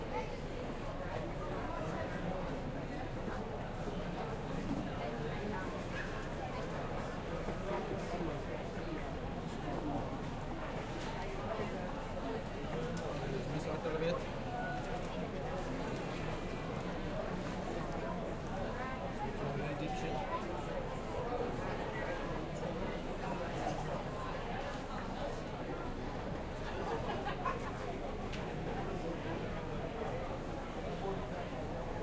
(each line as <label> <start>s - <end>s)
crowd noise 0.0s - 32.0s